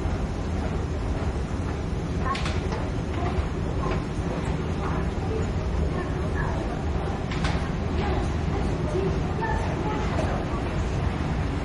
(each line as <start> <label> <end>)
0.0 announcement at the escalator 11.6